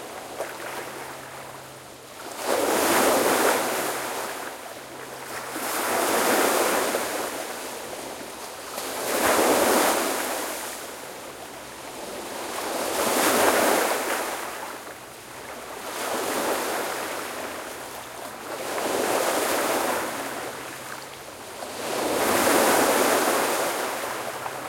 waves breaking 15.8 - 21.0
waves breaking 21.6 - 24.6

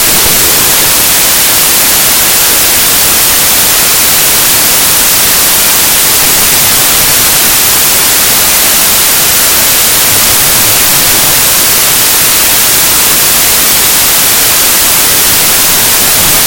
static 0.0 - 16.4

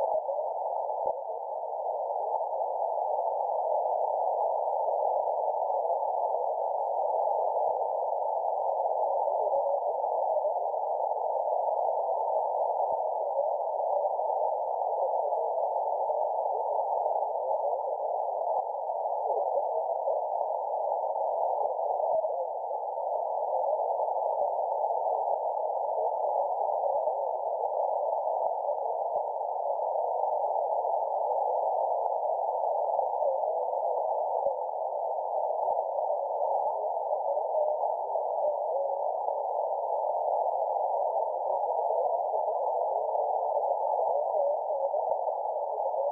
radio 0.0 - 46.1

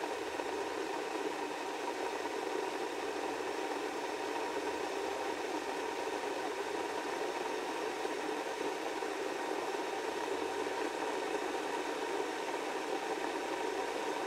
Kettle Cycle 0.0 - 14.2

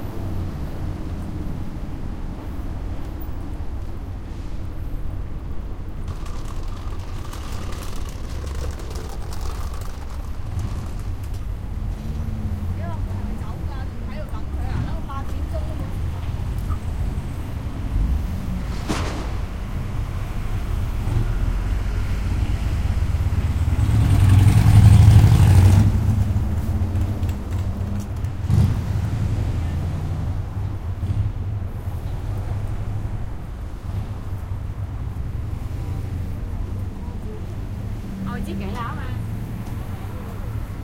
cars 0.0 - 40.8
voices 12.6 - 17.0
voices 38.2 - 40.8

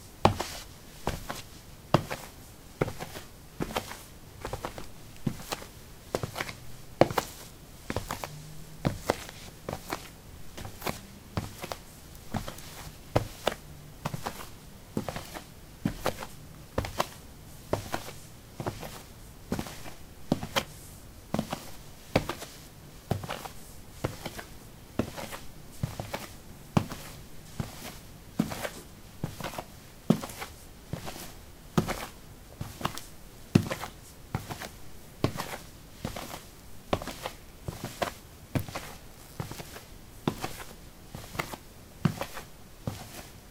Walking on soil 0.2 - 20.6

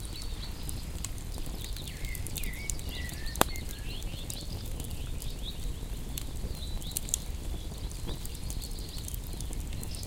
birdsong 0.0 - 10.0
bonfire 0.0 - 10.0

